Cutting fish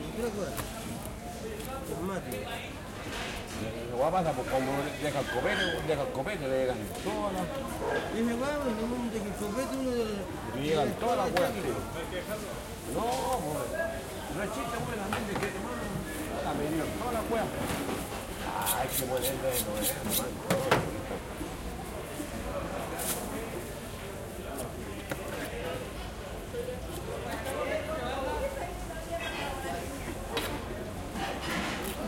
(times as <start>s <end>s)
18.6s 20.3s